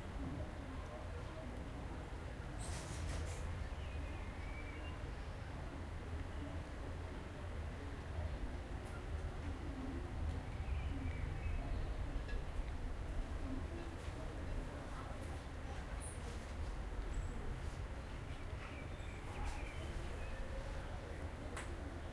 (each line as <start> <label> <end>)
9.6 birds 12.7
17.1 birds 21.9